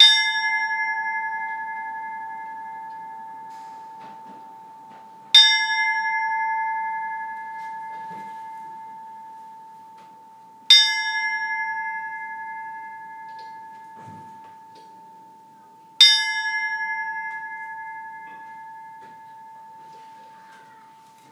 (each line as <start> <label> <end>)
0.0 bell 21.3